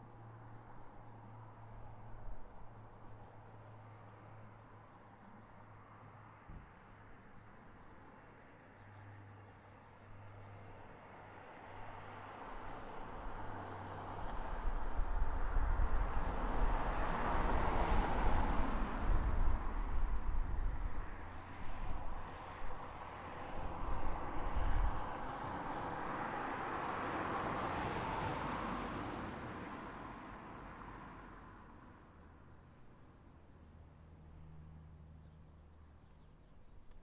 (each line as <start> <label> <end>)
0.0 traffic noise 37.0
0.0 wind 37.0
35.2 birds 37.0